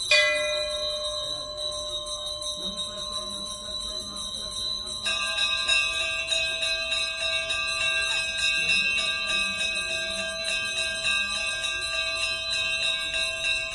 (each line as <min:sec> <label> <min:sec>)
0:00.0 ringing dozens of bells 0:13.7
0:00.0 visitors walk round the temple 0:13.7